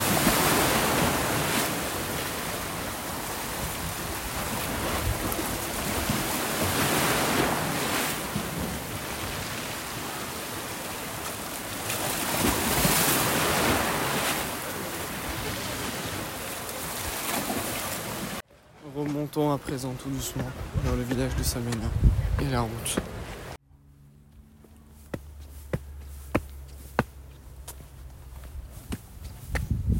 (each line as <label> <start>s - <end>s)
waves 0.0s - 23.6s
traffic sounds 19.7s - 29.7s